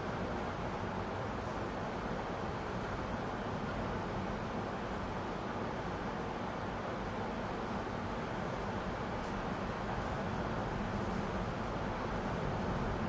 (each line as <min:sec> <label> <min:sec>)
0:00.0 heavy wind 0:13.0